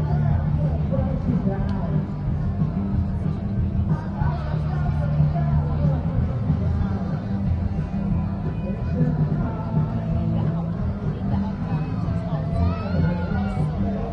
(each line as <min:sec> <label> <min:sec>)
0:00.0 children's entertainers 0:14.1
0:00.0 crowd 0:14.1